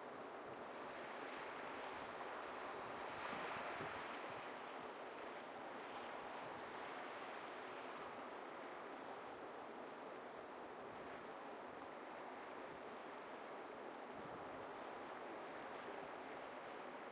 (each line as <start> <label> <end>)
0.0 waves 17.1